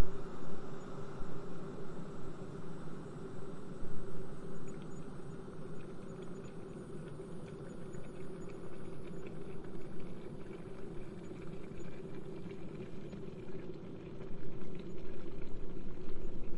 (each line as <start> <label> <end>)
5.6 kettle boiling 16.5